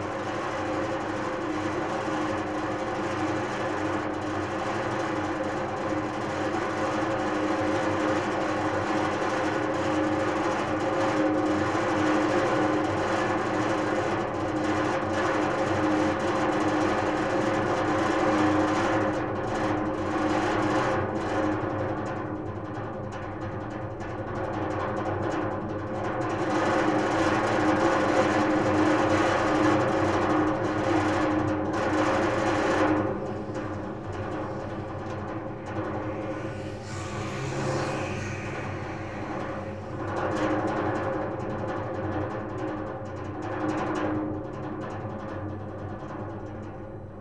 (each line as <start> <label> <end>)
0.0 ventilation system metalic vibration 47.2